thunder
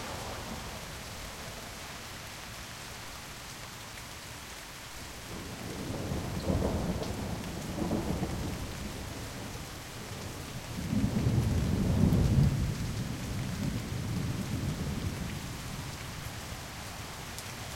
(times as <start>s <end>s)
5.4s 9.5s, 10.7s 15.6s